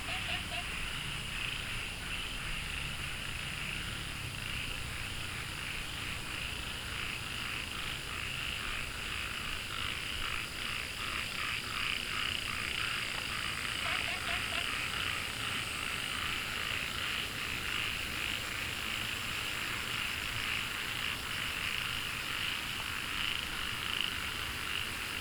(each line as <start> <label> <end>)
0.0 Frogs chirping 25.2